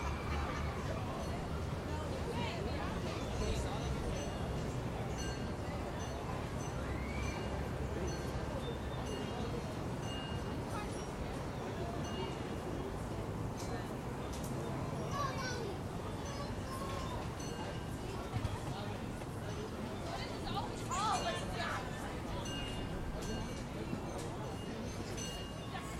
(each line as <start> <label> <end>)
0.0 people in droves sitting about on the grass 25.9